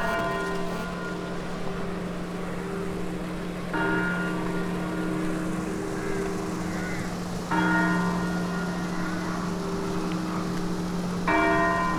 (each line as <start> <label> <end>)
0.1 funeral bells of local church 11.9